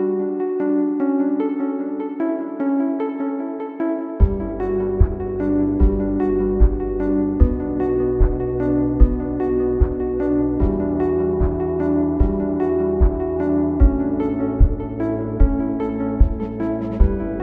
beat 0:04.2 - 0:17.4

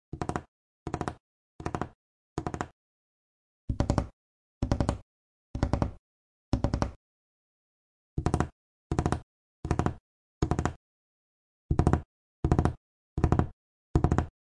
fingers drumming on wooden table 0:11.8 - 0:14.3

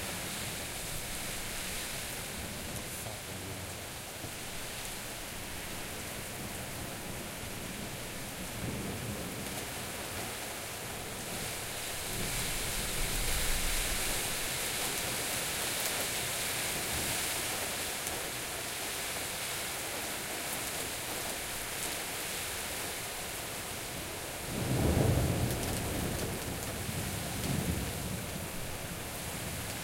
pouring rain 0:00.0 - 0:29.8

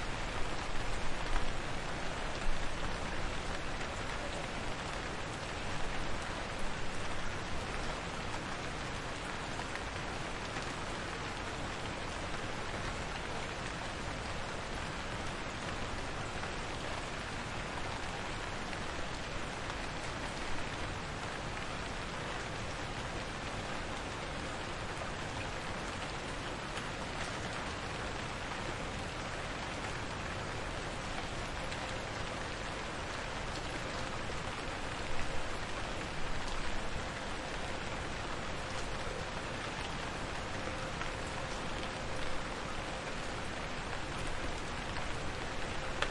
Light rain on street 0:00.0 - 0:46.1

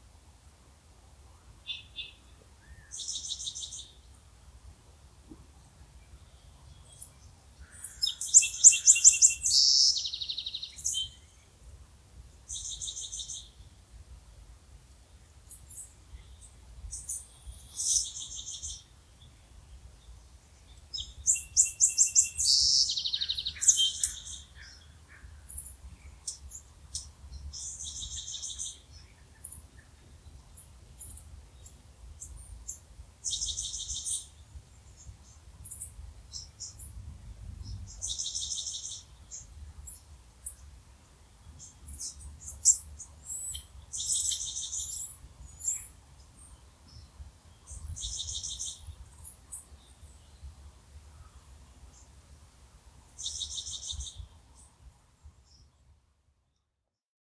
birds sounds 0:05.6 - 0:11.5
birds sounds 0:15.6 - 0:37.0

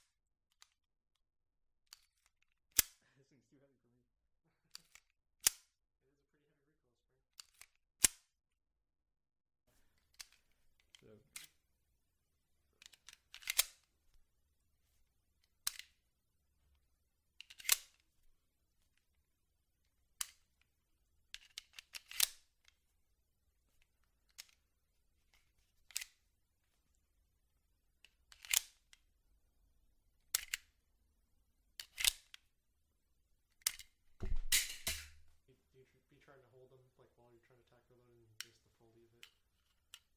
handgun 0:04.8 - 0:05.7
handgun 0:21.7 - 0:22.4
handgun 0:34.3 - 0:35.2

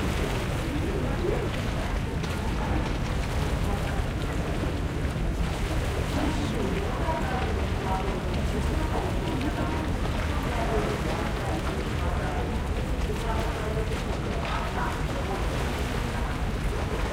water lapping 0:00.0 - 0:17.1

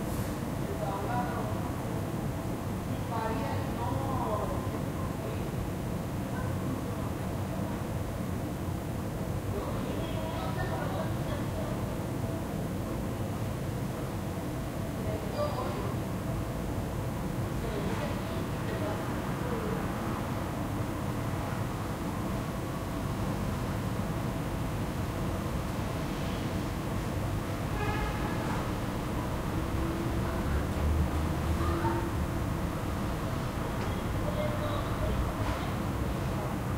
moderate, yet constant traffic 0:13.8 - 0:36.7
local residents talking 0:29.8 - 0:36.7

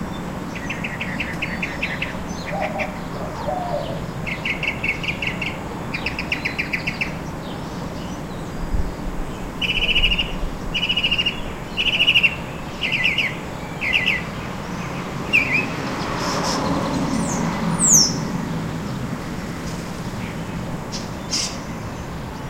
background sound from traffic 0:00.0 - 0:22.4
European Starling 0:00.0 - 0:18.4
Northern Mockingbird 0:00.6 - 0:07.2
White-winged Dove 0:00.9 - 0:05.4
Northern Mockingbird 0:09.6 - 0:15.8
car passing close by 0:13.8 - 0:21.8
European Starling 0:19.6 - 0:22.4

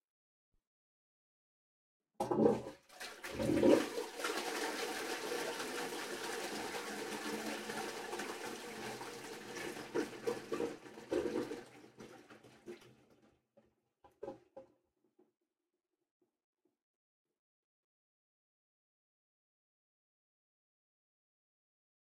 toilet flushing 0:02.2 - 0:13.2

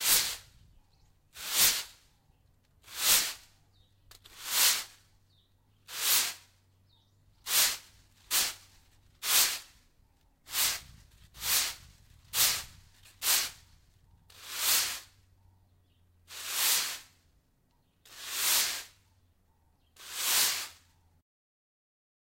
Sweeping with broom 0:00.0 - 0:00.7
Sweeping with broom 0:01.3 - 0:02.1
Sweeping with broom 0:02.8 - 0:03.5
Sweeping with broom 0:04.2 - 0:05.1
Sweeping with broom 0:05.8 - 0:06.5
Sweeping with broom 0:07.4 - 0:09.8
Sweeping with broom 0:10.5 - 0:15.2
Sweeping with broom 0:16.3 - 0:17.2
Sweeping with broom 0:18.1 - 0:19.0
Sweeping with broom 0:20.0 - 0:20.9

